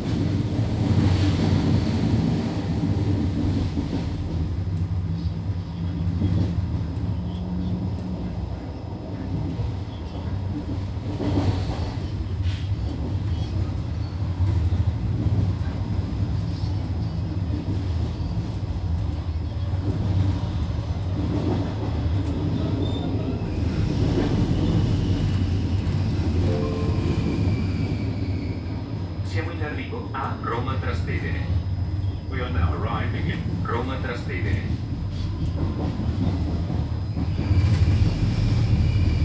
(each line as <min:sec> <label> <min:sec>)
0:00.0 train sounds 0:39.2
0:29.2 people chatting 0:31.6
0:32.3 people chatting 0:34.8